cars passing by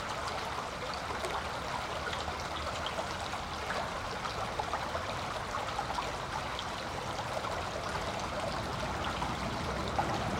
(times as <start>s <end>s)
8.5s 10.3s